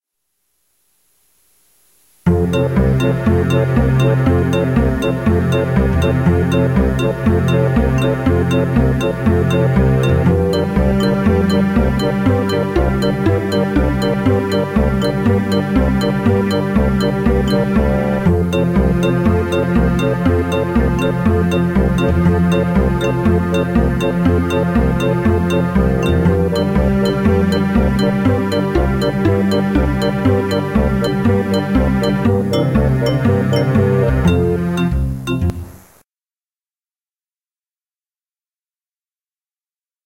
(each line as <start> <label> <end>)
2.3 instrumental 35.8